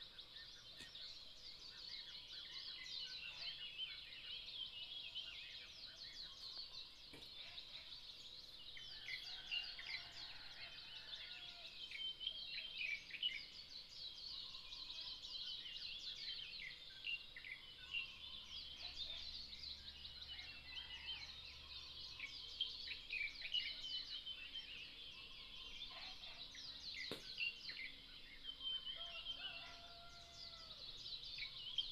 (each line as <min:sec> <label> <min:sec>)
0:00.0 Bird calls 0:31.9